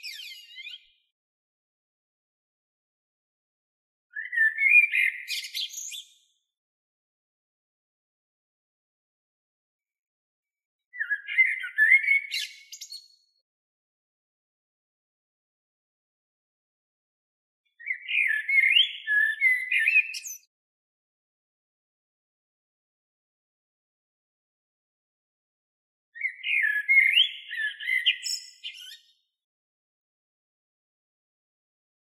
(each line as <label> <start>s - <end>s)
blackbird 0.0s - 1.1s
blackbird 4.1s - 6.4s
blackbird 10.9s - 13.4s
blackbird 17.7s - 20.5s
blackbird 26.2s - 29.3s